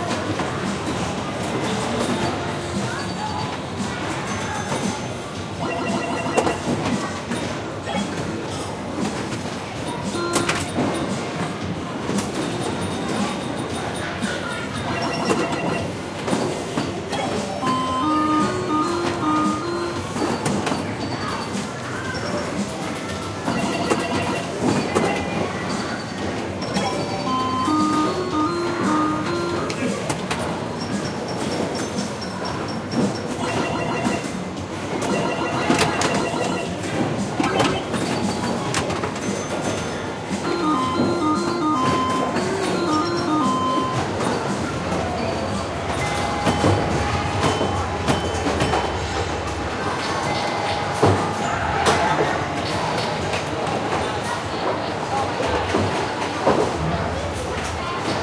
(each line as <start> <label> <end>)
0.0 vintage 1960-70s Pinball machines being played 58.2